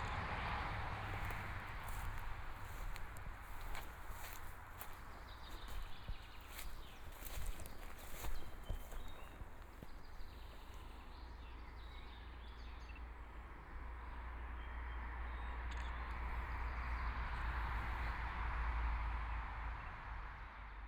0.0s Birdsong 18.2s
0.0s walking on the Road 18.6s
0.0s Traffic Sound 20.8s

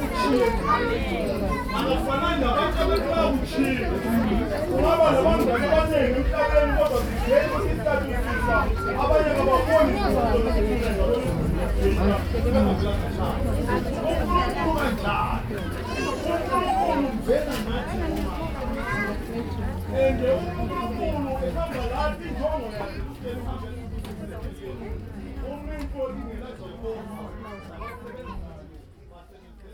0.0s long speech by a local pastor 29.7s

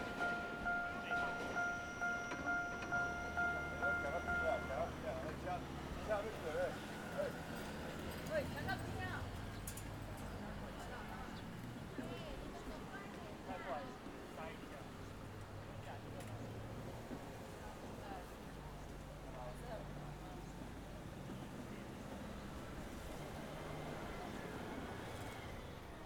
0.0s Trains traveling through 11.9s
0.0s Traffic Sound 13.3s
12.6s Trains traveling through 26.0s

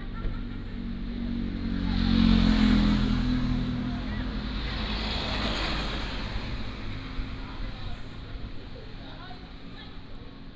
0.2s Traffic Sound 10.5s

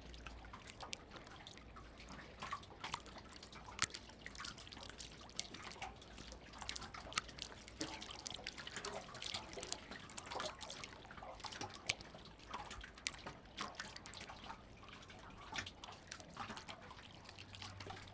0.0s Water interacting with wharf 18.1s

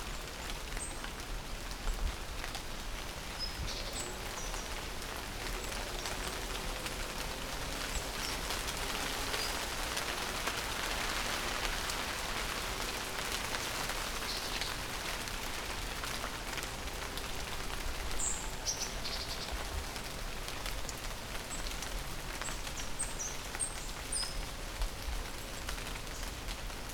0.0s heavy rain in the forest 26.9s

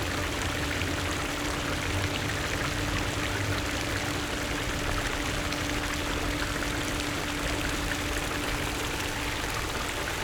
0.0s Fountains 10.2s

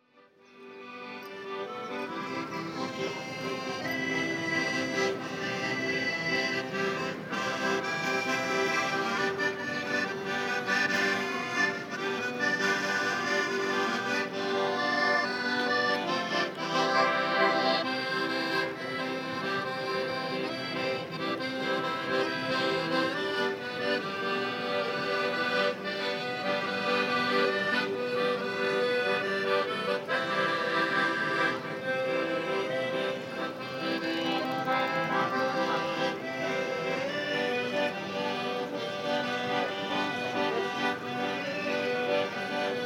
0.0s accordionist playing 42.8s

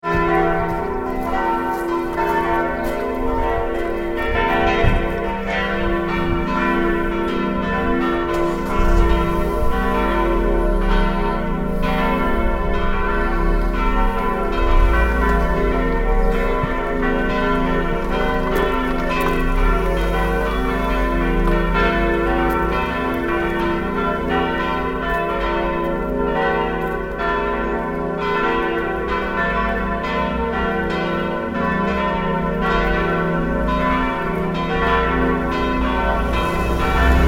0.0s church bell 37.2s

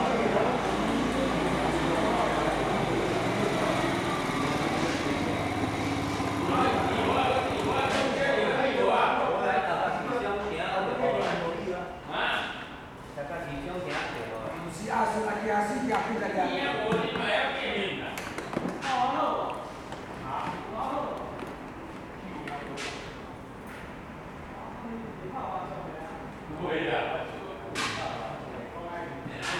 0.0s Traffic Sound 8.4s

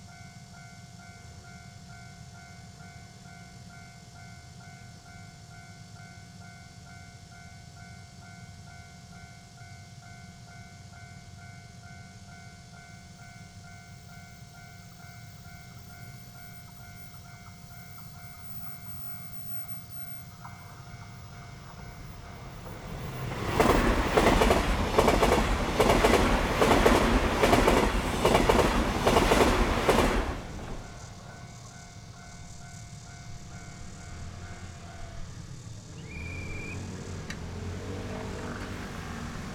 0.0s The train runs through 39.5s
6.4s Railway level crossing 39.5s
12.6s Cicada cry 25.9s
17.0s Traffic sound 39.5s
30.6s Cicada cry 38.6s

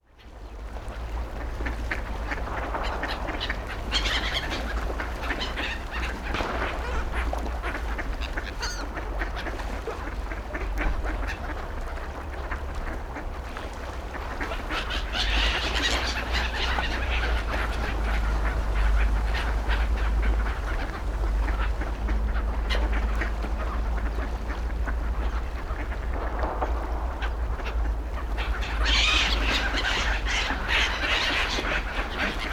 0.1s ducks 32.5s
0.2s seagulls 32.5s

